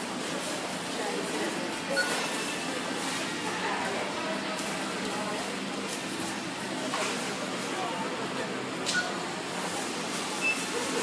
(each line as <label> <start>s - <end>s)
self service checkouts 0.0s - 11.0s
people 0.6s - 11.0s